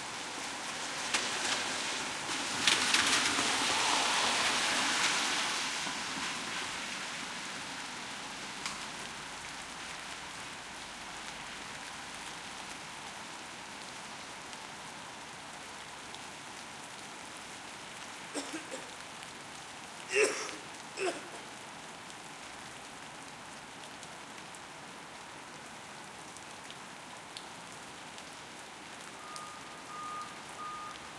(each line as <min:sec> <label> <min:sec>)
0:00.0 rain 0:31.1
0:00.5 auto cars pass 0:07.8
0:00.7 splash 0:07.7